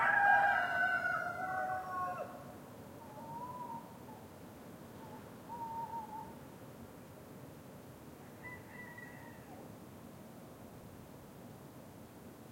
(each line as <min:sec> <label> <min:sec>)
0:00.0 roosters at different distance 0:11.3
0:03.0 tawny owl 0:04.3
0:05.0 tawny owl 0:06.4